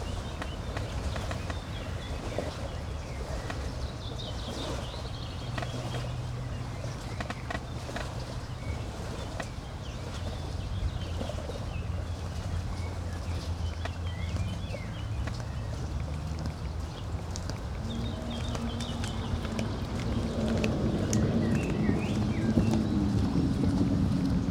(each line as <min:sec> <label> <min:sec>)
0:05.5 creaking tree 0:08.2